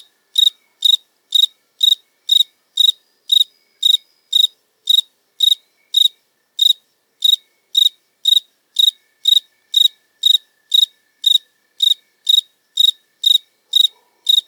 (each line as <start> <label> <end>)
0.0 Cricket singing 14.4
13.7 dogs 14.3